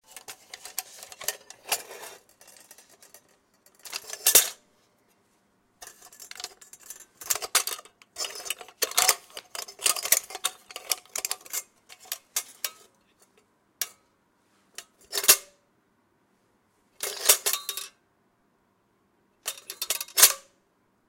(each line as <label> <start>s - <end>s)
Opening and closing of a small oil lantern 7.2s - 12.9s
Opening and closing of a small oil lantern 19.5s - 20.5s